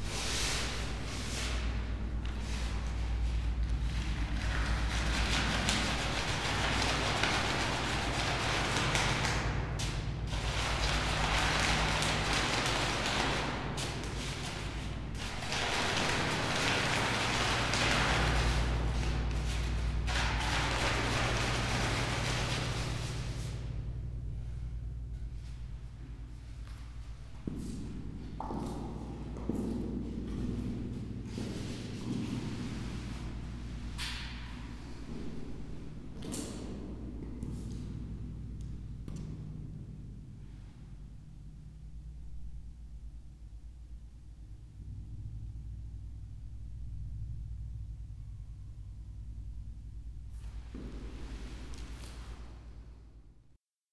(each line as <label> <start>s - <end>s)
steps 50.3s - 52.6s